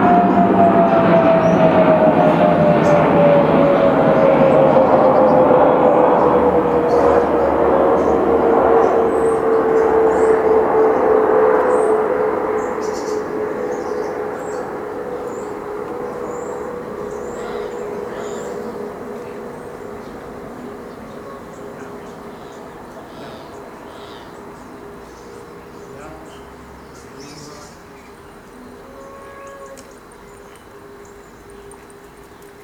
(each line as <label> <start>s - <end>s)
Rumblings from the sky due to airplanes landing 0.0s - 27.7s
Birds 1.0s - 32.6s
church bells 6.1s - 23.6s